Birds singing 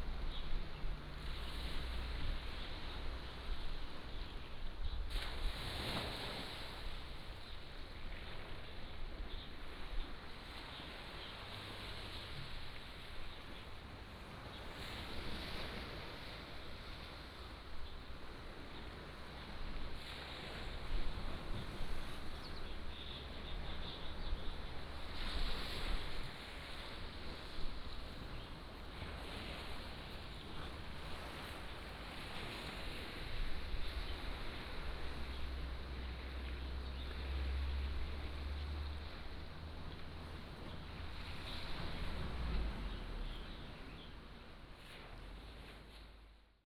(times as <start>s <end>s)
42.8s 44.2s